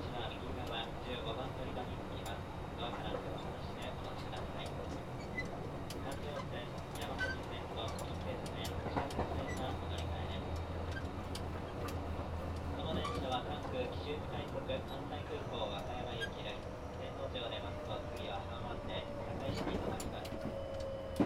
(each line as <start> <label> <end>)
0.0 train 21.2